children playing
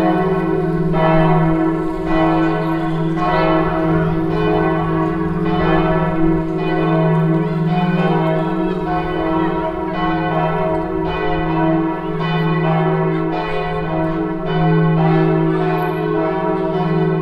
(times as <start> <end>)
0.5 11.0